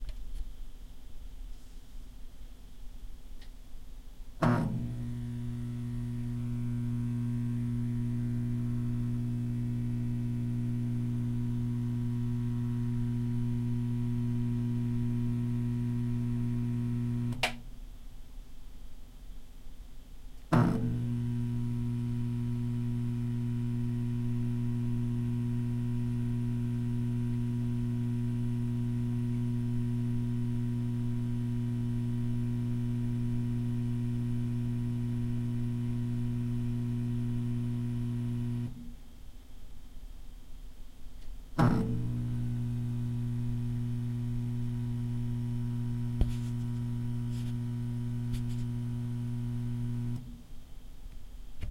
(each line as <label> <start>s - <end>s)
fluorescent tube light turning on and humming 4.4s - 17.8s
fluorescent tube light turning on and humming 20.5s - 39.0s
fluorescent tube light turning on and humming 41.5s - 50.5s